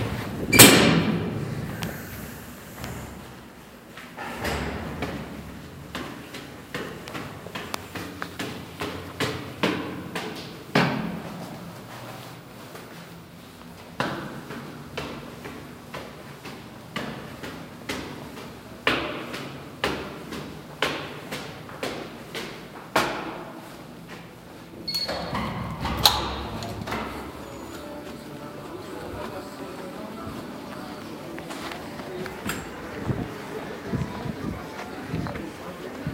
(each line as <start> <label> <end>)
0.0 Door to stairwell opens and closes 2.0
0.0 office din 36.1
4.0 someone walks up two sets of stairs 13.0
4.1 Door to stairwell opens and closes 11.4
24.8 Door to stairwell opens and closes 29.2
24.9 another door is opened 27.7
31.6 Door to stairwell opens and closes 33.6